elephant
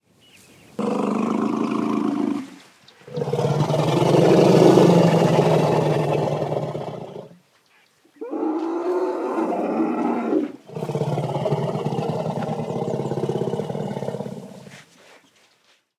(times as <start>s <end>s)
8.2s 15.2s